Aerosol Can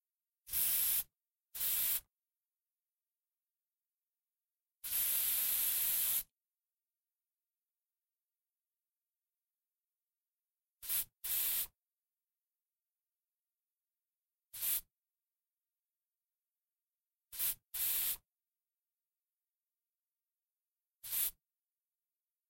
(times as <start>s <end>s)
0.5s 2.1s, 4.8s 6.3s, 10.8s 11.8s, 14.5s 14.9s, 17.3s 18.3s, 21.0s 21.4s